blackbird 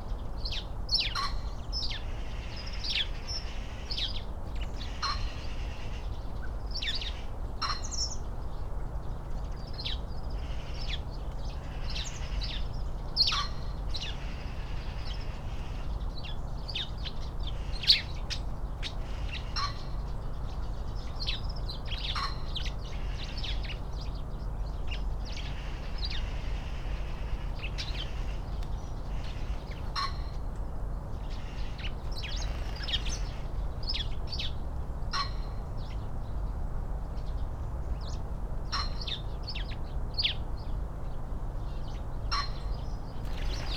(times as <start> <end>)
9.2 36.0, 41.6 43.7